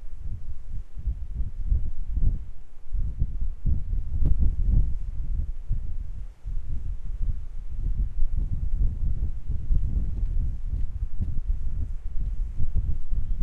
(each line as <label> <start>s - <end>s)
wind 0.0s - 13.4s